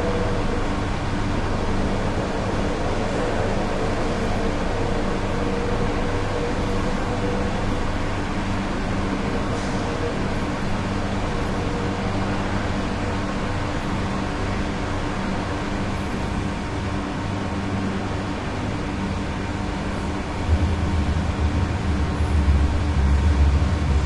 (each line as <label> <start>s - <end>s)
air conditioning 0.0s - 24.0s
fan 0.0s - 24.0s
distant traffic bassy echoey resonant through wall 18.9s - 24.0s